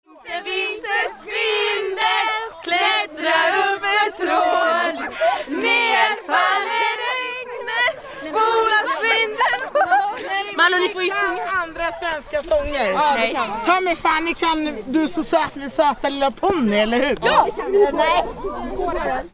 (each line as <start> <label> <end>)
0.1 filles chantent 11.6